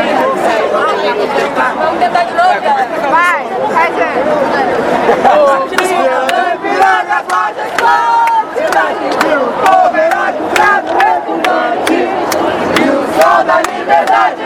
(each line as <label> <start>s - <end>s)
people protest 0.0s - 14.4s